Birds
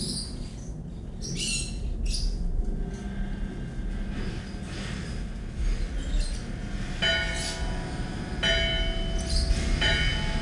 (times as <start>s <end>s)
9.1s 9.8s